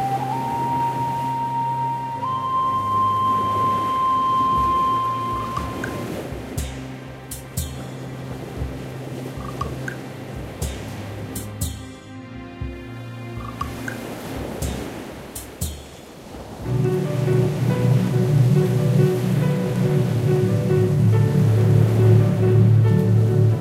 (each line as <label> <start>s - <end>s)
music 0.0s - 16.0s
music 16.6s - 23.6s